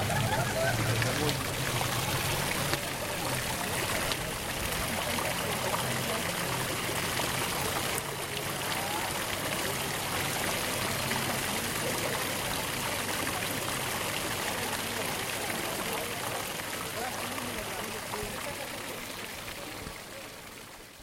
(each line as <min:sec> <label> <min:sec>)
0:00.0 tourists 0:20.8
0:00.0 fountain 0:21.0